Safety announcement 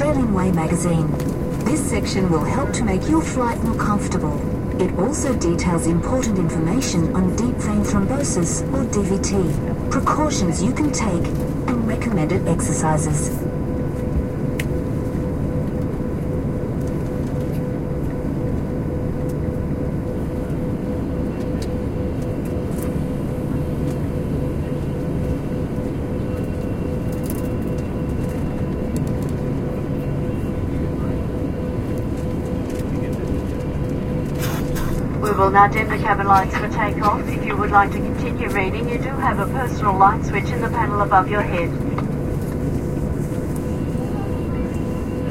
0.0 13.4, 35.1 42.0

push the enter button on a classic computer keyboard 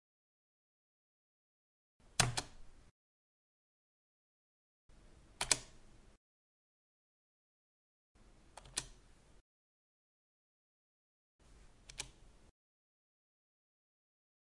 2.2 2.6, 5.4 5.8, 8.6 9.0, 11.9 12.2

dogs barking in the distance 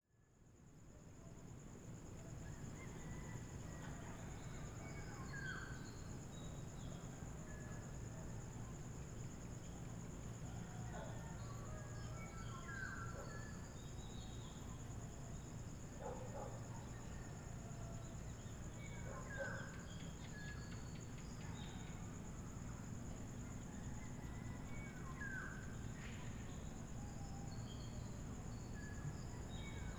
10.6 13.6, 15.9 18.0, 18.8 20.1

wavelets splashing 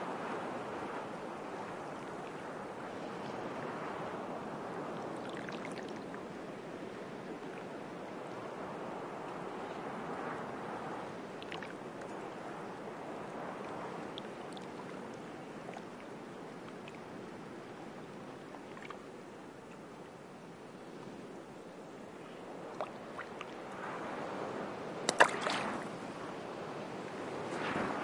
25.1 26.2, 27.0 28.0

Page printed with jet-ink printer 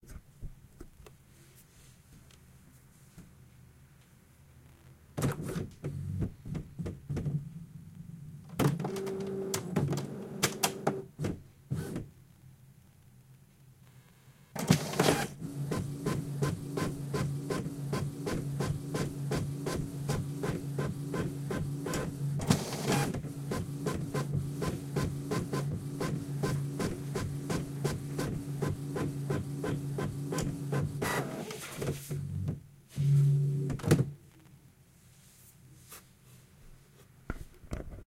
8.6 11.1, 14.6 33.7

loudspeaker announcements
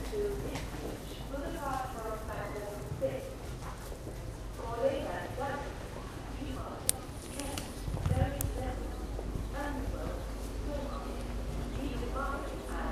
4.6 12.9

